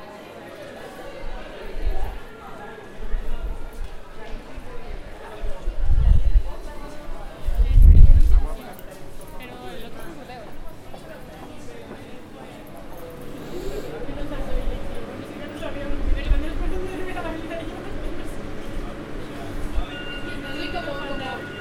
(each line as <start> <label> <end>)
0.0 departure of the train 21.6
0.0 voices of people talking 21.6
10.5 arrival of the train 21.6